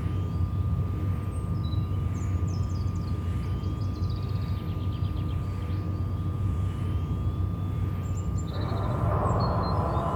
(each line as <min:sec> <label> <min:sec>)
0:08.4 Windgenerator, microphone touching the tower 0:10.1